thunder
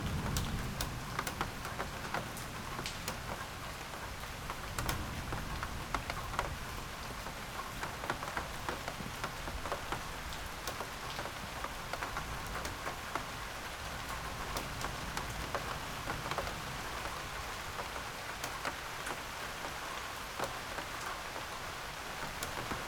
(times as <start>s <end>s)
0.0s 2.0s